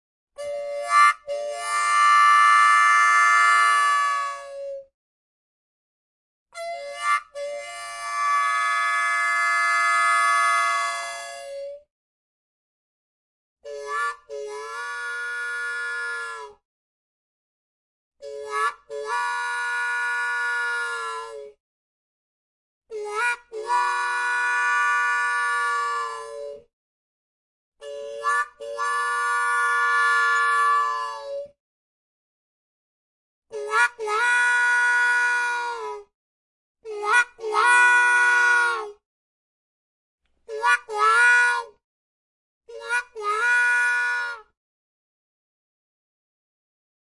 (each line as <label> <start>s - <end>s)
harmonica 0.4s - 4.5s
harmonica 6.6s - 11.6s
harmonica 13.7s - 16.6s
harmonica 18.2s - 21.5s
harmonica 22.9s - 26.6s
harmonica 27.8s - 31.5s
harmonica 33.5s - 36.0s
harmonica 36.8s - 38.9s
harmonica 40.5s - 41.7s
harmonica 42.7s - 44.5s